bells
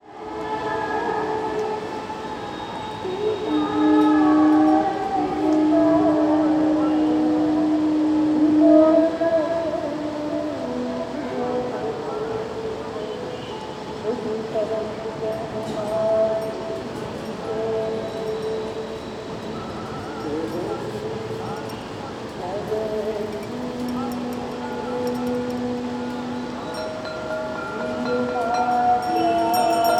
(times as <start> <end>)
0.6 7.6, 15.2 29.9